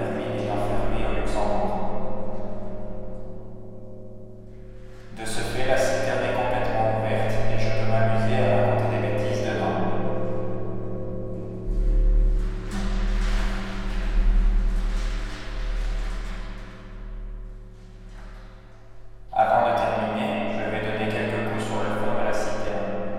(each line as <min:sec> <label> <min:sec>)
0:05.1 speak stupid things on a hole on the cistern summit 0:09.9
0:19.4 speak stupid things on a hole on the cistern summit 0:22.8